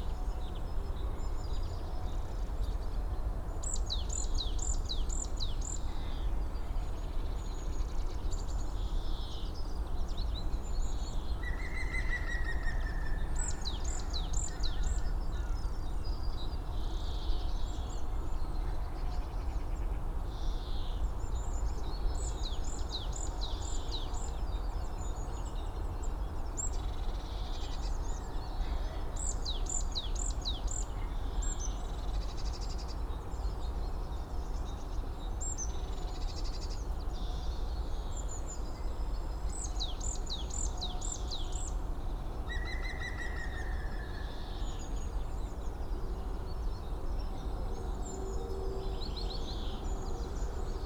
Drone of distant traffic 41.1 - 50.8
trains 47.4 - 50.8

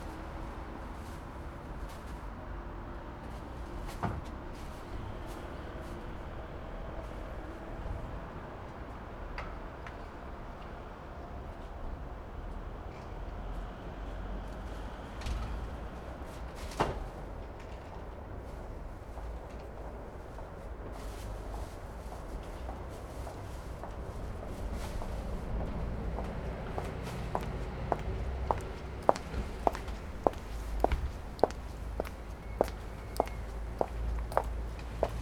high-heeled steps 26.2 - 35.2

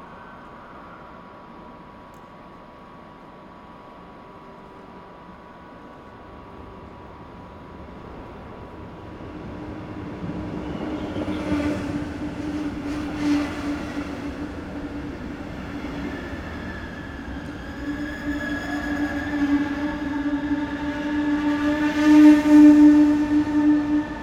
regional train arrives and departs 0.0 - 24.2

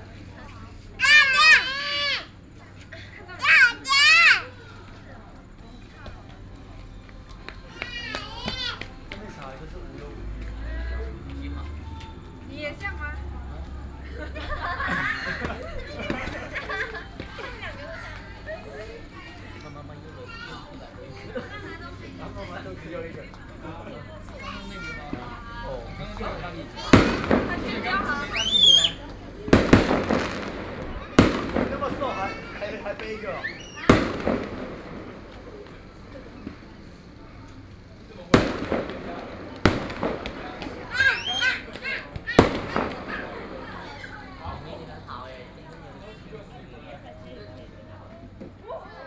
Firework 14.0 - 18.9
Firework 21.1 - 45.0

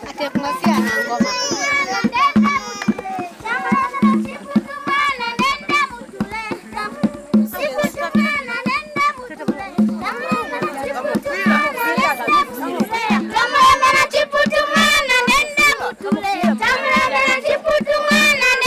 speeches 0.0 - 14.0
music and dance 0.0 - 18.6
pupils are entertaining the guests with poems 0.0 - 18.6

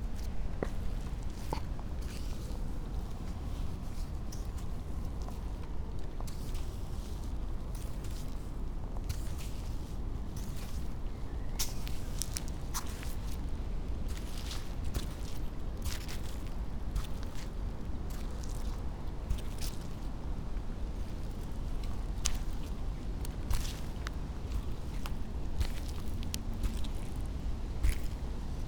river flows quietly 0.0 - 28.6
clogs on sand 20.8 - 28.6

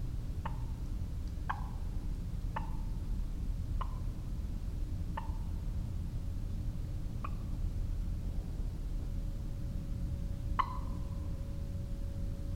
barred owl hoots from a nearby tree 2.5 - 3.0
barred owl hoots from a nearby tree 3.8 - 4.2
barred owl hoots from a nearby tree 5.1 - 5.6
barred owl hoots from a nearby tree 10.4 - 11.4

